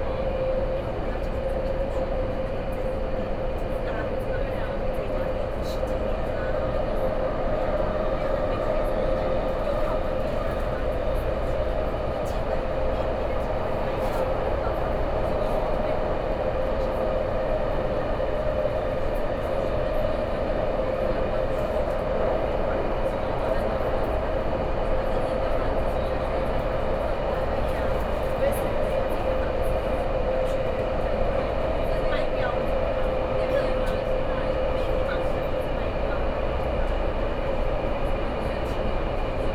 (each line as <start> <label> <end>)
0.0 MRT 39.5